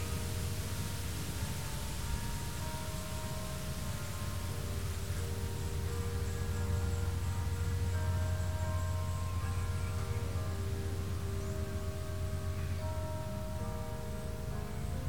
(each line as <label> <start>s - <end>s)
Churchbell songs 0.0s - 15.0s
layers of crickets 0.0s - 15.0s